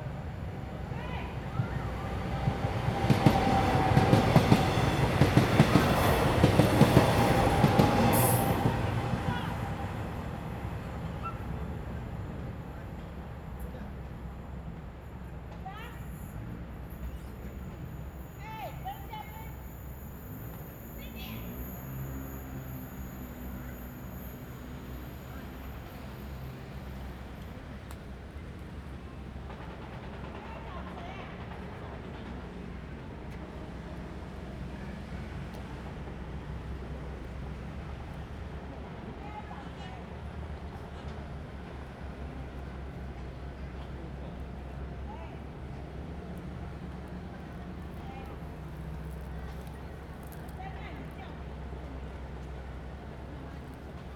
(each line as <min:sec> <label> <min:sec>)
0:00.0 Train traveling through 0:54.1
0:00.0 Traffic sound 0:54.1